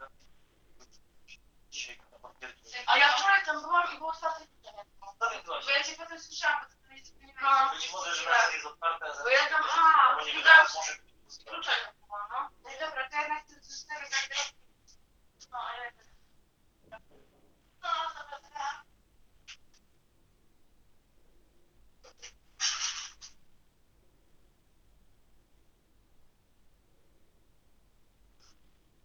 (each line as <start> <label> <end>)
0.0 phone call 19.7
0.0 distorted conversations 19.8
22.0 distorted conversations 23.4